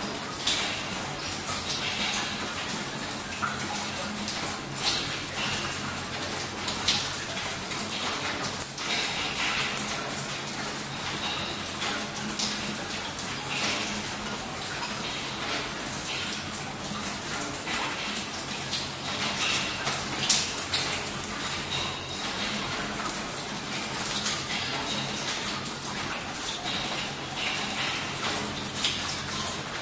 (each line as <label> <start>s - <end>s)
water 0.0s - 29.8s